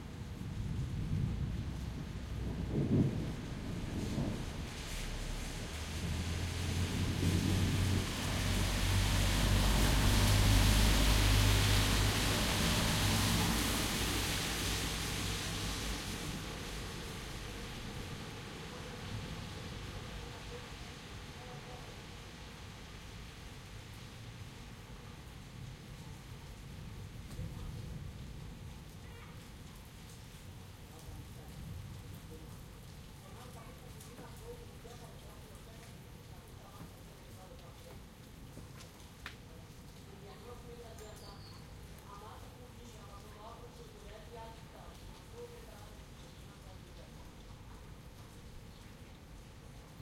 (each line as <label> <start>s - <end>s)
Rain After Storm 0.0s - 50.0s
wind 0.0s - 50.0s